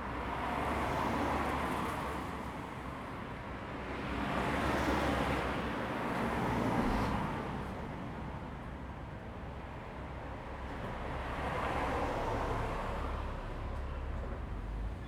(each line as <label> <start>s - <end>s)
Traffic Sound 9.3s - 15.0s